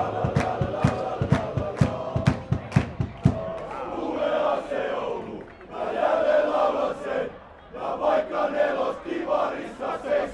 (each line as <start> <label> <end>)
0.0 supporters singing and chanting 10.3